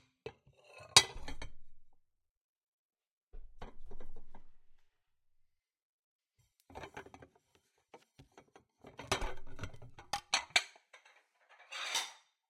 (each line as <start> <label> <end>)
1.0 dishes 1.4